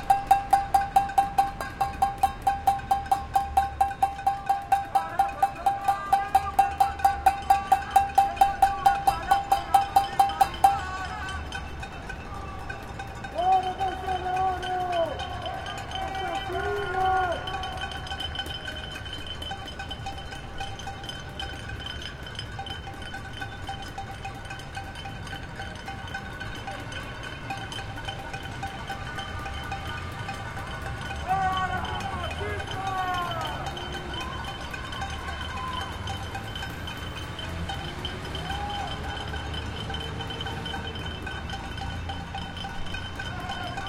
0.0s people bang pans 43.8s

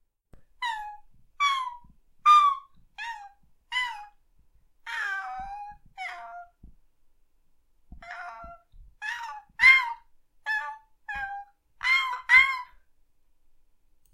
8.0s dog whining 2 10.0s

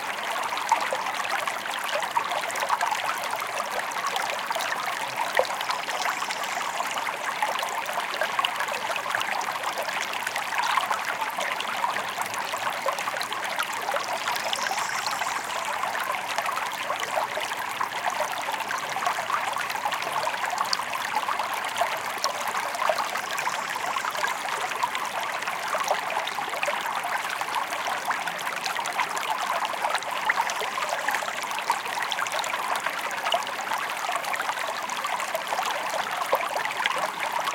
0.0s water stream 37.5s

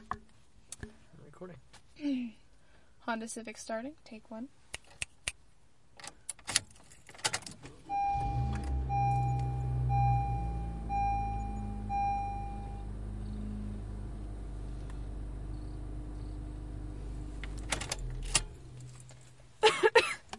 7.8s car beeping 19.2s
7.9s Engine starting 9.0s

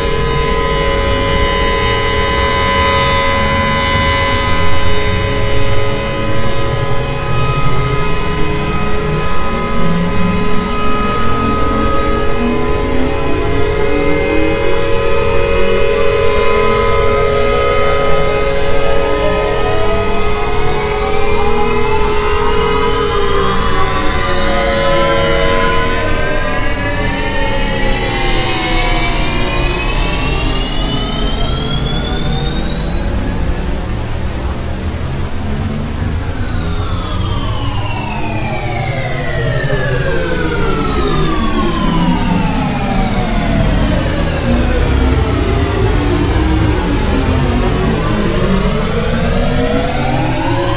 0.0s airhorn 28.4s
0.0s alarm 50.7s
0.0s sirens 50.7s

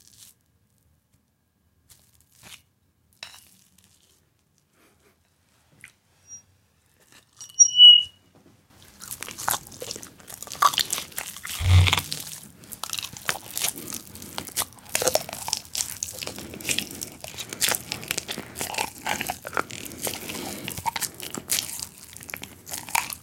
1.9s bowl and mash 4.2s
8.8s bowl and mash 23.2s

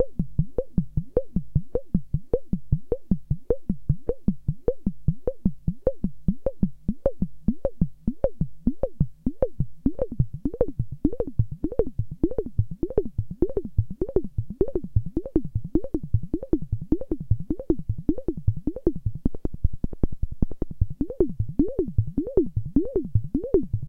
21.0s bleeps are from the resonance of the 12 pole filter 23.8s

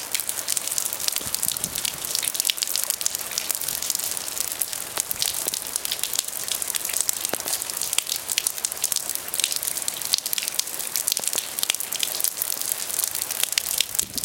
0.0s Rain Hitting Pavement 14.2s

